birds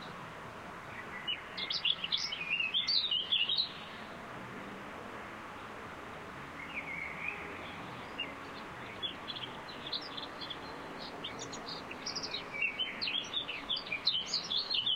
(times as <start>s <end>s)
0.8s 4.2s, 6.4s 14.9s